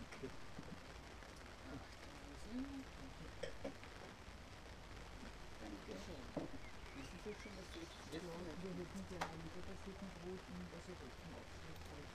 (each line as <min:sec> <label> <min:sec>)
0:00.0 human voices talking to each other leisurely 0:12.1